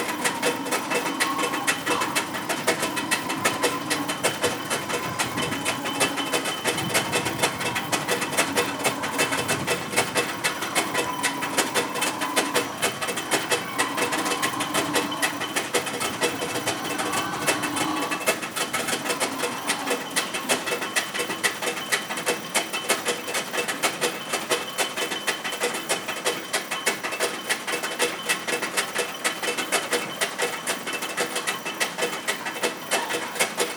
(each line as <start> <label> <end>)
0.0 ritmos producidos por un motor 33.7
0.0 sonidos ocasionales de los animales 33.7